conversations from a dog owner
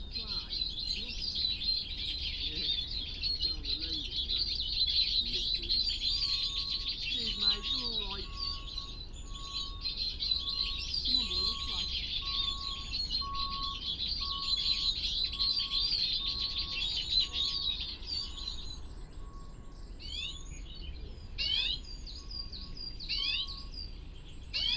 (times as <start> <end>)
2.4 4.5, 7.0 8.6, 11.1 12.0